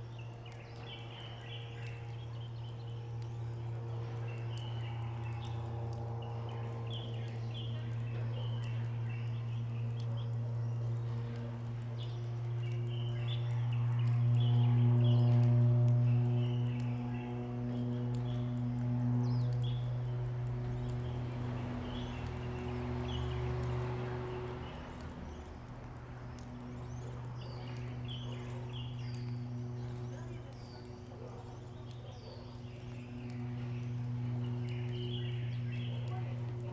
0.0s Small aircraft in the distance 36.7s
0.0s Water droplets 36.7s
0.1s Bird sound 36.7s
31.1s Dog barking 32.6s

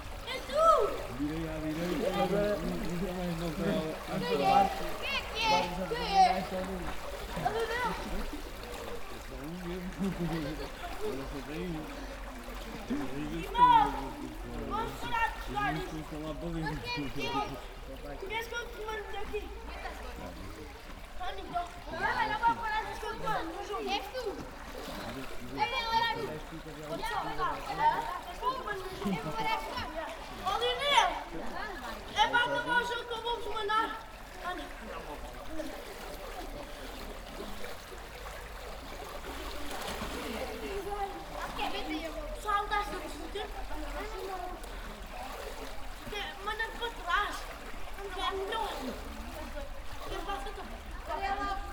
0.0s people swimming 51.7s
0.3s people talking 6.8s

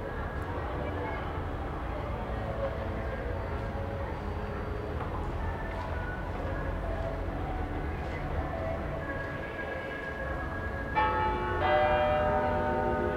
10.9s clock tower strikes eleven 13.1s

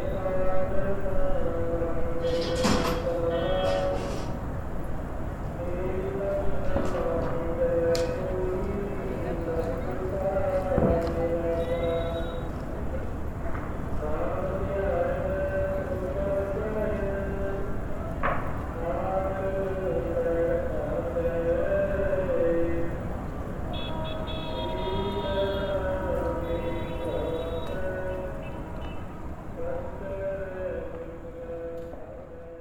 0.0s very sad melody is sung by a man far away 4.5s
5.4s very sad melody is sung by a man far away 13.2s
13.8s very sad melody is sung by a man far away 32.6s

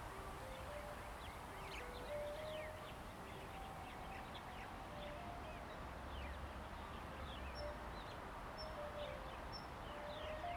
0.0s Wind 10.5s

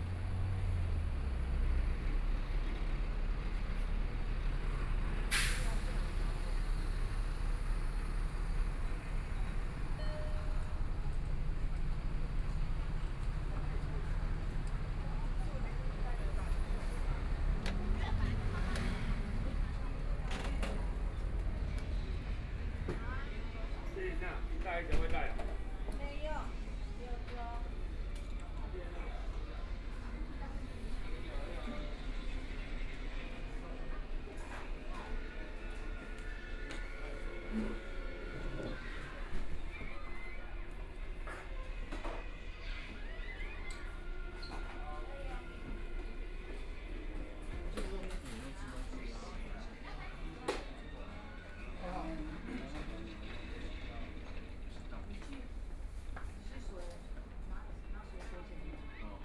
0.0s Traffic Sound 43.2s

